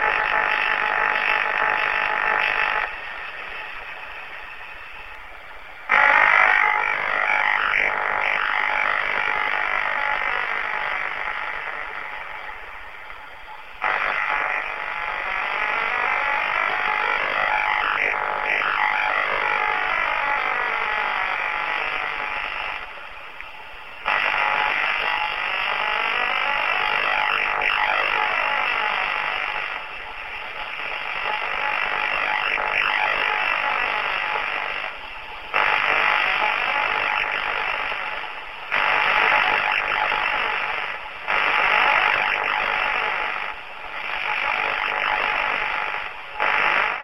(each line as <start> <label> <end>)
0.0 tuning around frequency 47.0